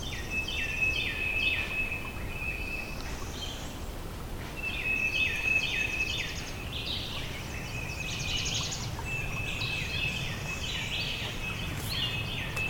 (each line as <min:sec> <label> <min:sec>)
0:00.0 Birds are singing 0:12.6